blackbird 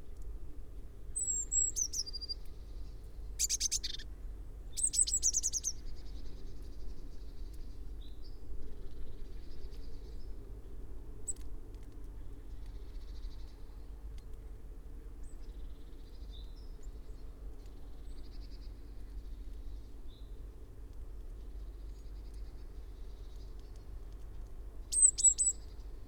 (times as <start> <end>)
1.2 2.5, 3.4 4.1, 4.8 5.8, 24.9 25.8